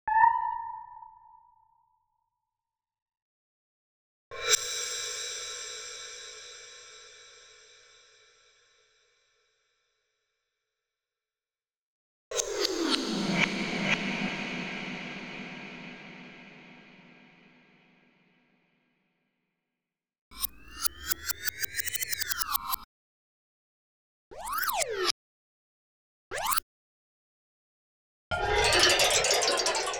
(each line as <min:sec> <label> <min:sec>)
0:28.4 metaltextures 0:29.9